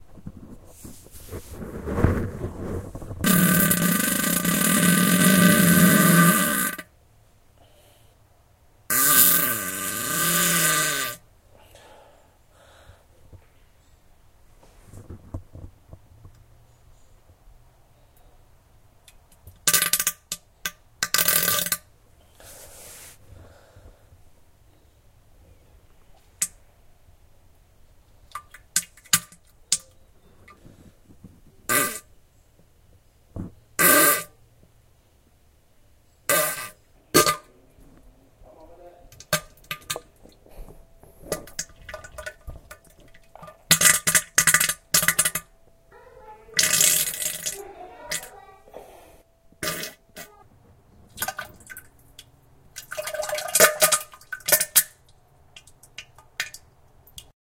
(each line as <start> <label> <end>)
0.2 wet fart 6.9
8.9 wet fart 11.2
19.6 wet fart 20.4
21.0 wet fart 21.8
31.6 wet fart 32.1
33.4 wet fart 34.4
36.3 wet fart 37.4
41.2 wet fart 45.5
49.6 wet fart 50.4